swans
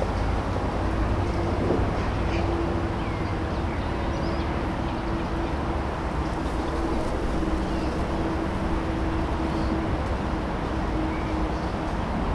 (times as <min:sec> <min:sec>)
0:06.2 0:12.3